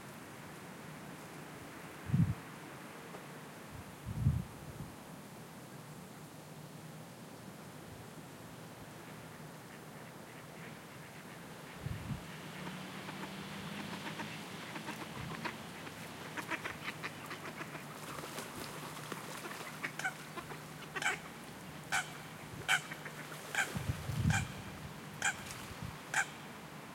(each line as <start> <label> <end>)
0.0 light rain 24.1
0.0 wind 26.9
8.9 waterbirds 26.9